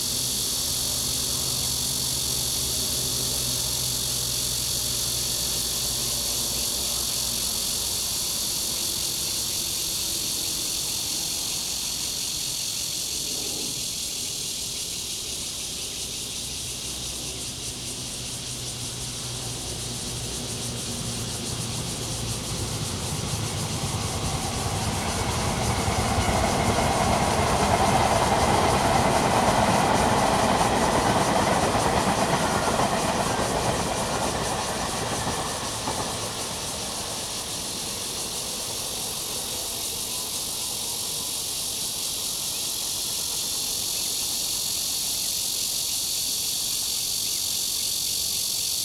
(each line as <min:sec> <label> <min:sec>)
0:00.0 Cicadas 0:48.8
0:00.0 train running through 0:48.8
0:16.0 Traffic sound 0:42.0
0:16.7 Garbage truck passes 0:40.3